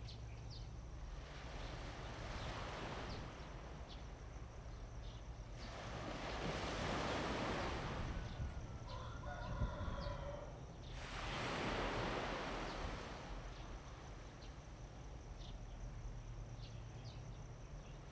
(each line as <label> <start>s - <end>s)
waves 0.7s - 18.1s
Bird cry 8.2s - 10.5s
Chicken crowing 8.6s - 10.6s